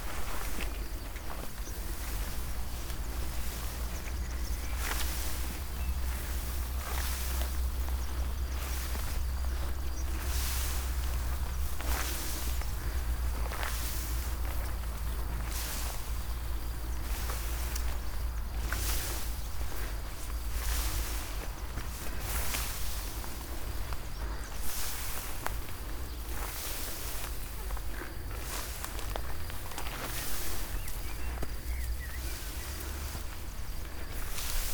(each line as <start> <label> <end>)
0.0 uphill walk through high grass 34.7